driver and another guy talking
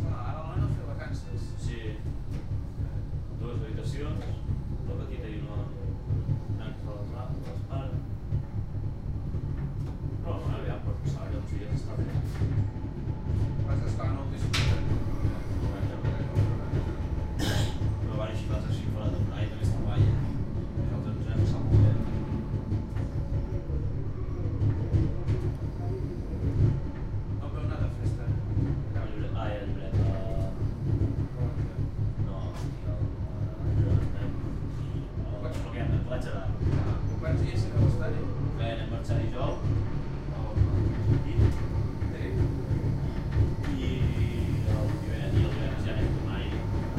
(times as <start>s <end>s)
27.4s 46.9s